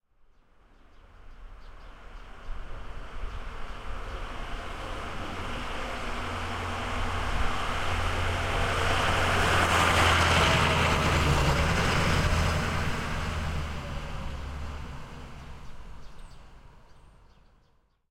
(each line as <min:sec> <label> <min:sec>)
0:02.1 truck 0:17.4